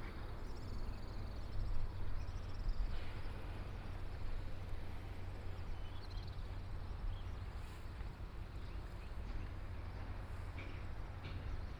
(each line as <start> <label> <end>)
7.4 distant sound of train traveling through 11.7